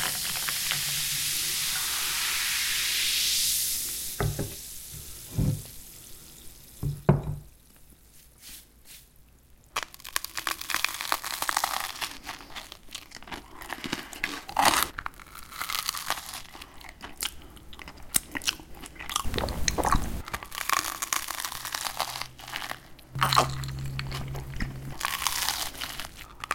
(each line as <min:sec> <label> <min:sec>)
0:00.0 fizz 0:06.9